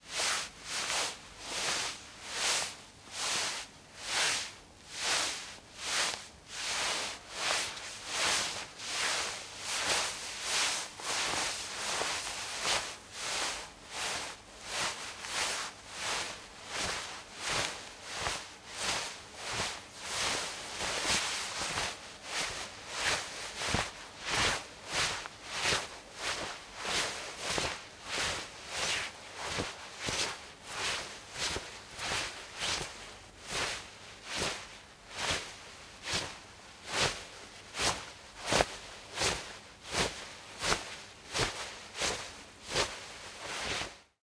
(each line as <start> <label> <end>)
0.0 Cloth Rustle 44.2